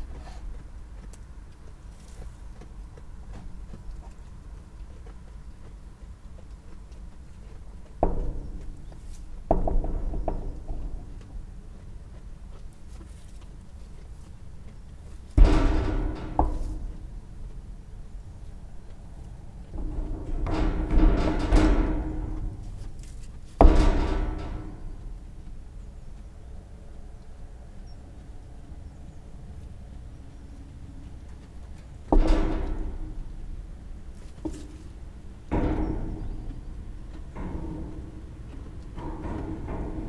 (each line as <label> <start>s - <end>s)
sheep (rams) horns' clanging on their feeding trough 0.0s - 27.0s
sheep (rams) horns' clanging on their feeding trough 31.4s - 40.0s